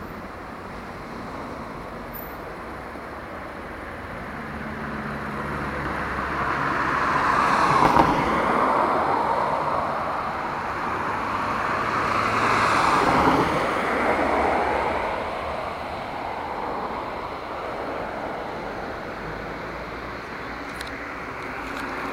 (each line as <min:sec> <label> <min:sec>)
0:00.0 Tram 0:22.1
0:00.0 bus 0:22.1
0:00.0 passing cars 0:22.1